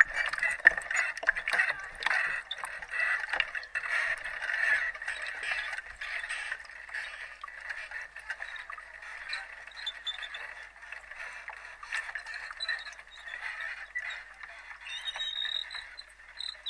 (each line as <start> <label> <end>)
8.3 squeaks 10.8
11.8 squeaks 16.6